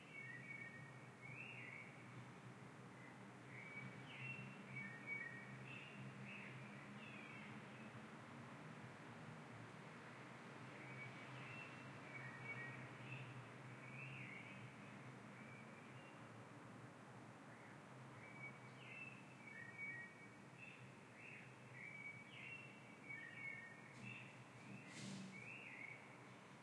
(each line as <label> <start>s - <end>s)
Traffic 0.0s - 26.6s
birds 2.9s - 8.1s
birds 10.7s - 16.4s
birds 17.4s - 26.6s